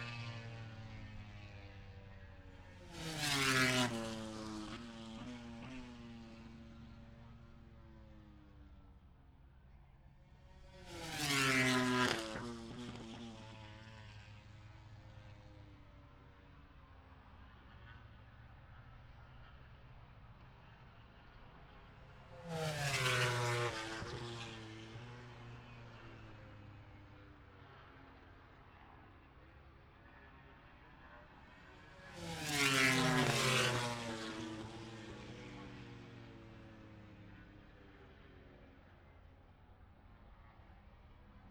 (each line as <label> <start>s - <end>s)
british motorcycle grand prix 0.0s - 41.5s